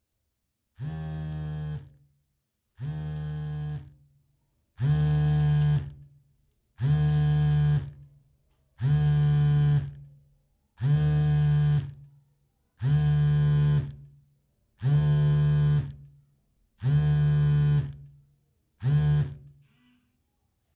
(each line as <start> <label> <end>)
0.8 Cellphone Vibrating on a Table 2.0
2.8 Cellphone Vibrating on a Table 4.0
4.8 Cellphone Vibrating on a Table 6.0
6.8 Cellphone Vibrating on a Table 8.0
8.8 Cellphone Vibrating on a Table 10.0
10.8 Cellphone Vibrating on a Table 12.0
12.8 Cellphone Vibrating on a Table 14.1
14.8 Cellphone Vibrating on a Table 16.1
16.8 Cellphone Vibrating on a Table 18.1
18.8 Cellphone Vibrating on a Table 19.8